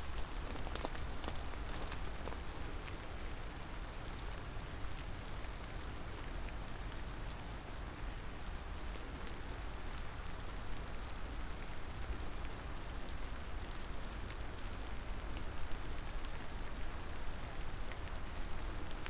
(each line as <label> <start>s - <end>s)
rain 0.0s - 19.0s